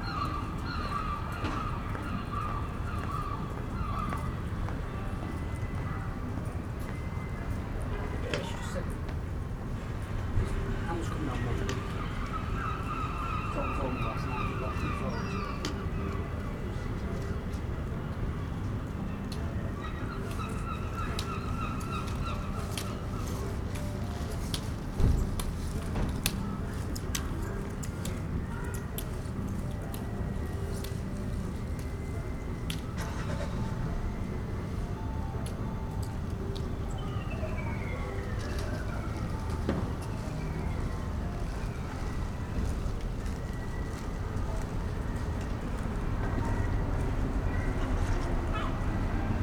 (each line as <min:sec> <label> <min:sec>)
0:00.0 traffic 0:49.4
0:04.4 road sweepers push their carts by 0:49.4
0:10.4 voices 0:17.5
0:19.0 voices 0:49.4